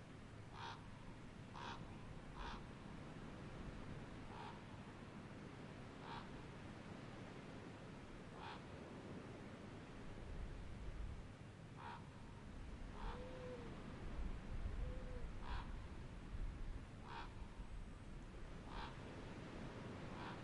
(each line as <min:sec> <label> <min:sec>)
0:00.4 ravens 0:02.8
0:04.2 ravens 0:05.1
0:05.9 ravens 0:07.0
0:08.2 ravens 0:08.9
0:11.7 ravens 0:14.0
0:14.8 ravens 0:15.9
0:17.0 ravens 0:17.8
0:18.6 ravens 0:20.4